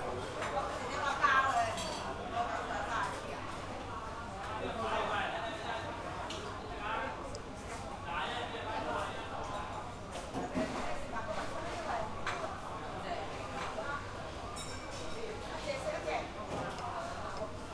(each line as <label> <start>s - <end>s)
chat in restaurants 0.0s - 17.7s